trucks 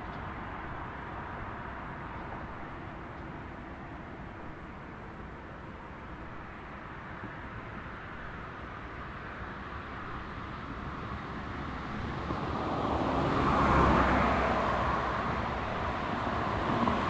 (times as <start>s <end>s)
10.8s 17.0s